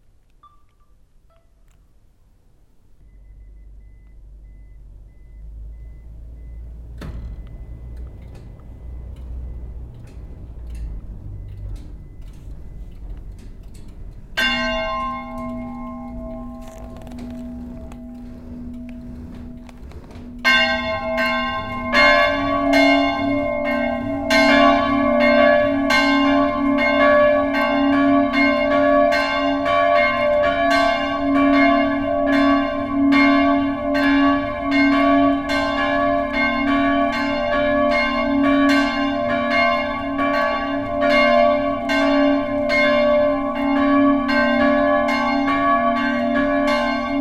church bells 0:14.2 - 0:47.2

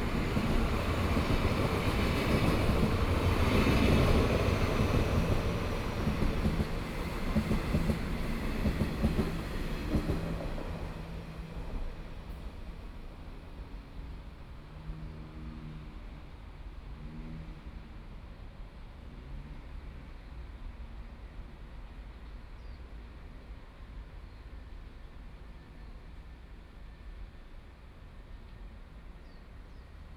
Train traveling through 0:00.0 - 0:15.0

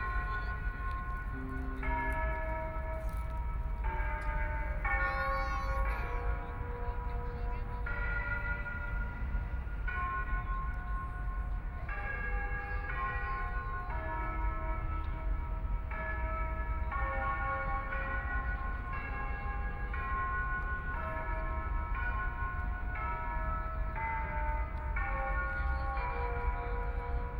Many tourists 0:00.0 - 0:27.3
clock tower chimes 0:00.0 - 0:27.3

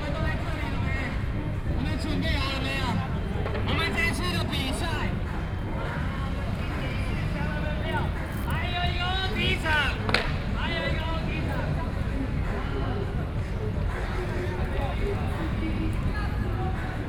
Young people are skateboarding 0:00.0 - 0:17.0

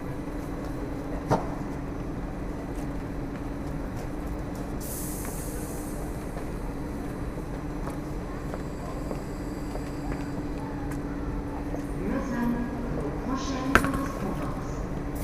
Train departure/arrival announcement 0:00.0 - 0:15.2

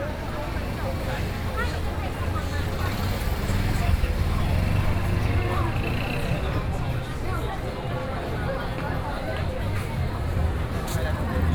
The crowd 0:00.0 - 0:11.5

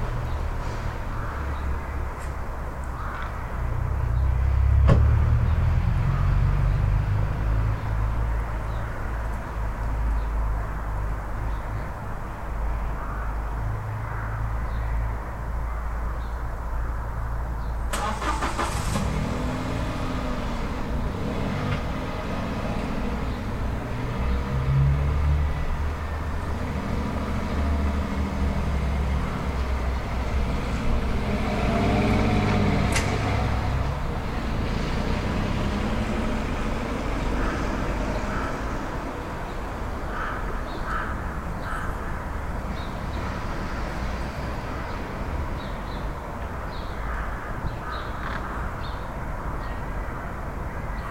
birds 0:00.0 - 0:04.5
Cars 0:00.0 - 0:51.1
background highway 0:00.0 - 0:51.1
birds 0:05.4 - 0:19.0
birds 0:36.8 - 0:51.1

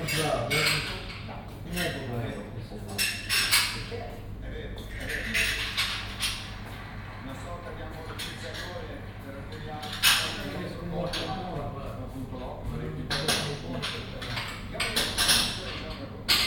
kitchen sounds 0:00.0 - 0:16.4
italian game show on TV 0:06.4 - 0:09.2

